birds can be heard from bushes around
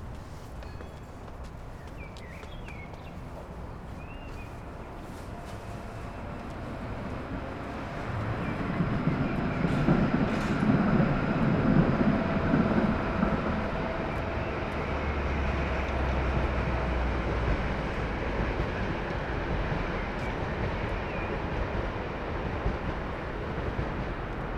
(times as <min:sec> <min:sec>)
0:00.6 0:09.8